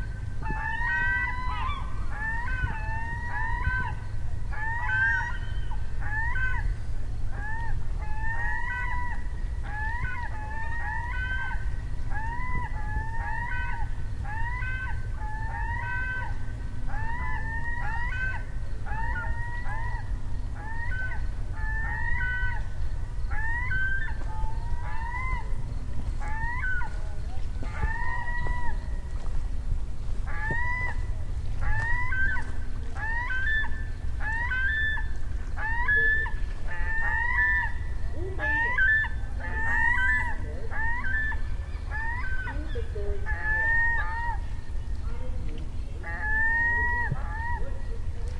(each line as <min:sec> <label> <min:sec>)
0:00.0 seagulls having a battle royale 0:29.3
0:00.0 ocean 0:48.3
0:30.2 seagulls having a battle royale 0:45.3
0:45.9 seagulls having a battle royale 0:48.3